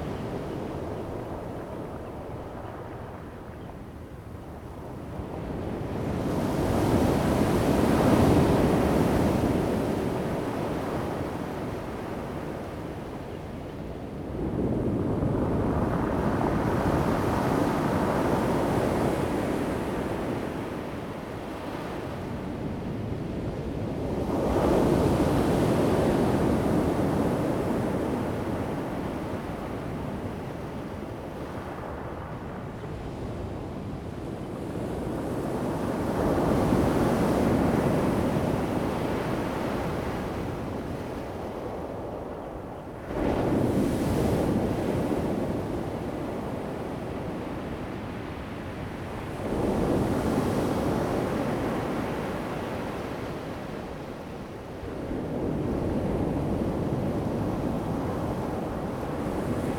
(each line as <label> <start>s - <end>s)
waves 35.4s - 59.7s